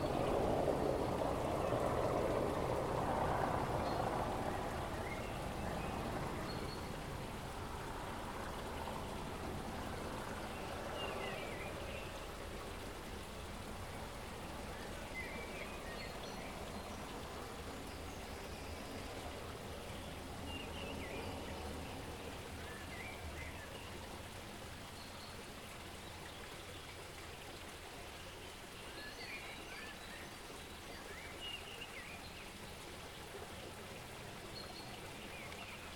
military helicopter passing overhead 0:00.0 - 0:15.8

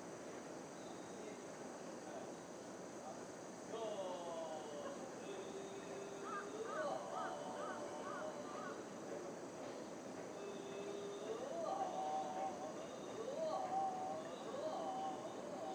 monks practising scriptures 0:03.8 - 0:08.9
monks practising scriptures 0:10.4 - 0:15.7

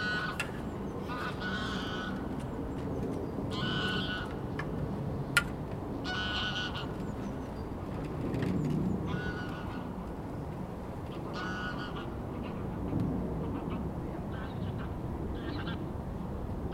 Water bird crying 0:00.0 - 0:02.3
Water bird crying 0:03.5 - 0:04.4
Water bird crying 0:06.0 - 0:07.0
Water bird crying 0:11.1 - 0:12.6

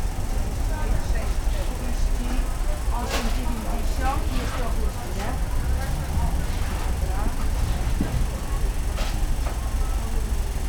rattle and hum is coming from a nearby fan 0:00.0 - 0:10.6
rumor of customers moving around 0:02.3 - 0:10.6
traffic from streets around the market 0:02.5 - 0:10.6

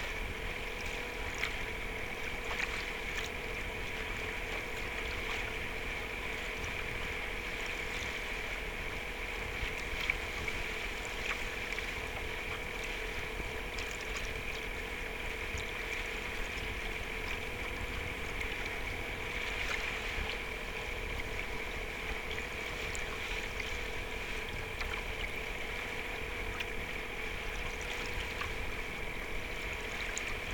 hull of the boat 0:00.0 - 0:30.5

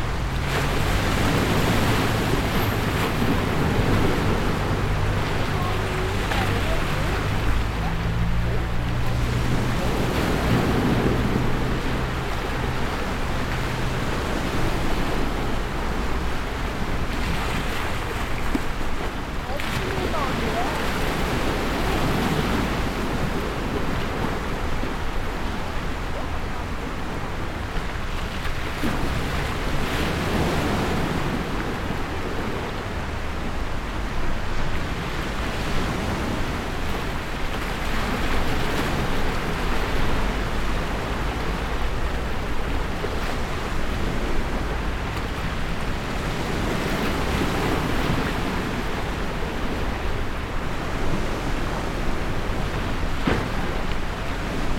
road noise 0:00.0 - 0:54.7
wave sound 0:00.0 - 0:54.7

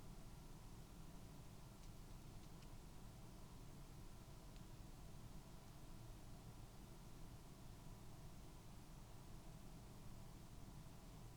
background noise 0:00.0 - 0:11.3

